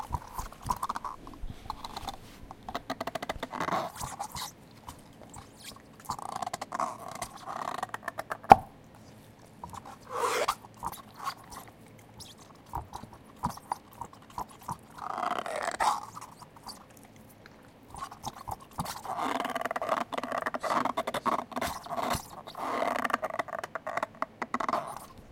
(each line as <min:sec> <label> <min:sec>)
0:00.0 dog chewing on a raquetball 0:25.3